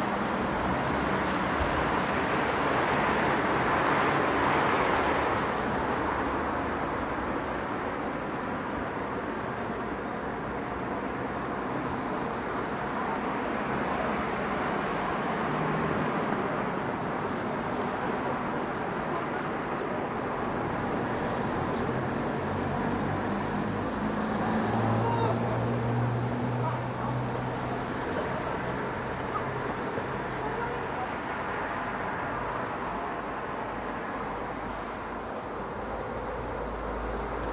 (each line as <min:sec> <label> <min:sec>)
0:00.0 traffic 0:37.5
0:24.9 voices 0:25.8
0:26.5 voices 0:31.4